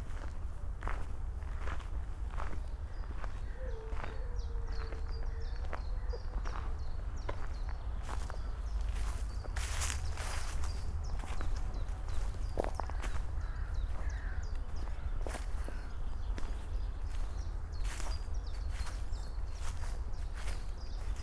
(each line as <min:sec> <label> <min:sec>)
0:03.6 howling dog 0:05.8